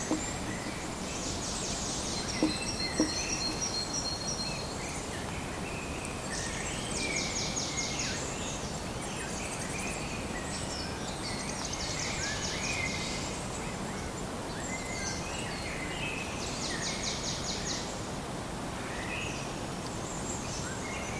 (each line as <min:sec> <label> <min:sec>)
0:00.0 woodpecker 0:03.7
0:00.0 other birds 0:04.1